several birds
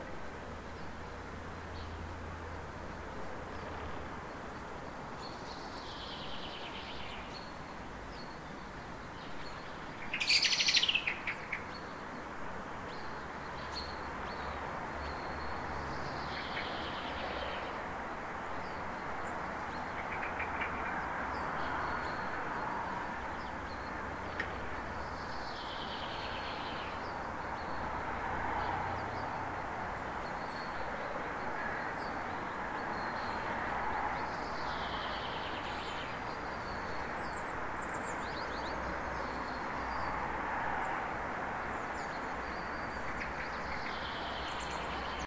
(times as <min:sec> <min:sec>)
0:05.2 0:17.8, 0:18.6 0:27.8, 0:41.7 0:45.2